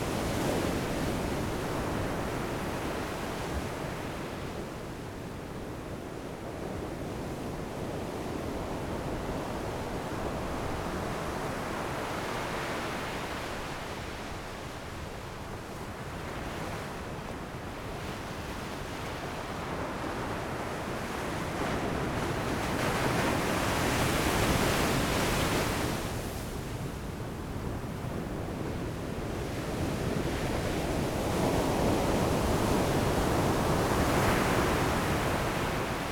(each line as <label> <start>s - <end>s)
waves 8.8s - 36.1s